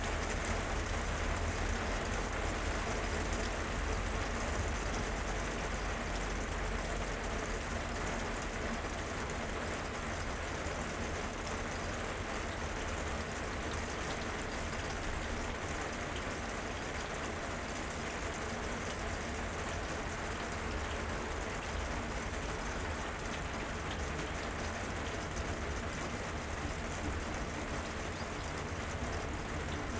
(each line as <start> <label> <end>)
0.0 Rain 29.9